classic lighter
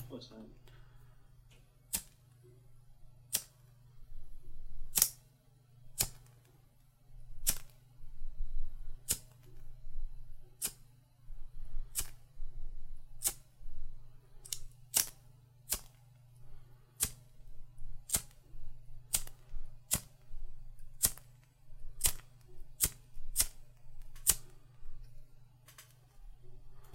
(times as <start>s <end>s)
1.8s 2.4s, 3.2s 3.8s, 4.8s 6.4s, 7.2s 7.9s, 8.9s 9.7s, 11.7s 12.3s, 13.0s 13.7s, 14.3s 26.9s